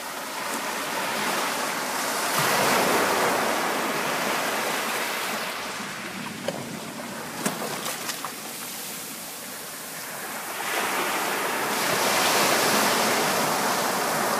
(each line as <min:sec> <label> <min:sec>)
0:00.0 waves washing up on the beach 0:14.3
0:00.2 waves were hitting 0:14.3